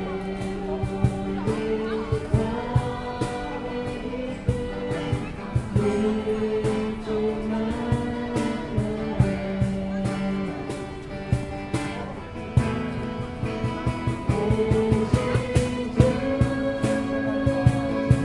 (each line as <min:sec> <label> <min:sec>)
0:00.0 People talking 0:18.2
0:00.0 Religious music 0:18.2